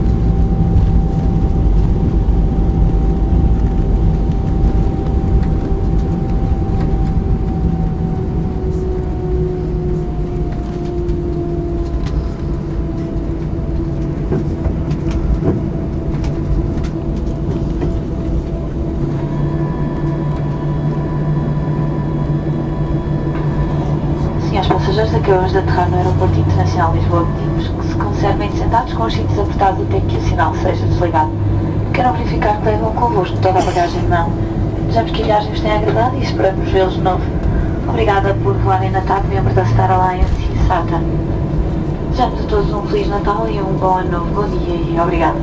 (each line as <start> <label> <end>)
0.0 Plane (Tap Portugal) Landing 21.3
22.9 flight attendant speaking 45.4